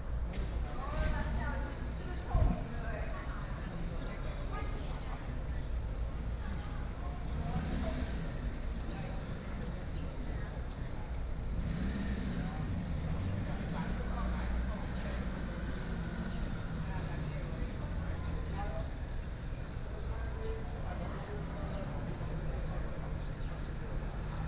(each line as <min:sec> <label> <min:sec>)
0:00.0 Traffic Sound 0:24.4